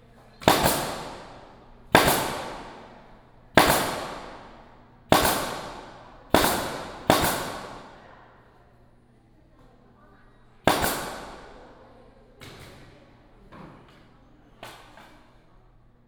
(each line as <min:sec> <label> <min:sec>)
0:00.0 Exhibition site construction 0:16.0